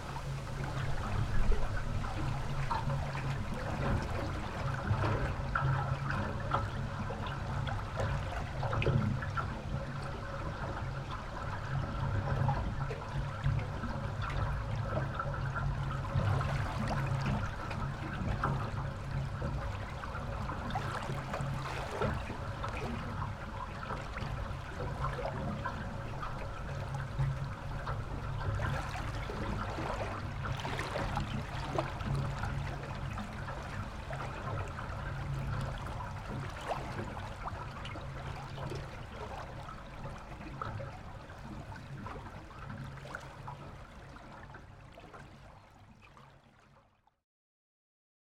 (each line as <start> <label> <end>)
0.0 happy waters 47.1